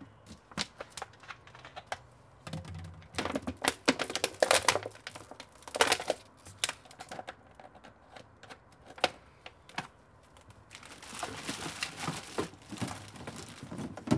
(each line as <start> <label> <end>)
0.3 flattening plastic bottles 7.5
10.6 flattening plastic bottles 14.1
10.7 sorting trash 14.1